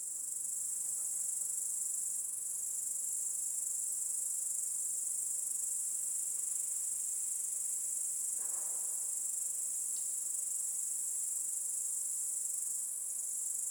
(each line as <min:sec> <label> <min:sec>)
0:00.0 cicadas under a bridge 0:13.7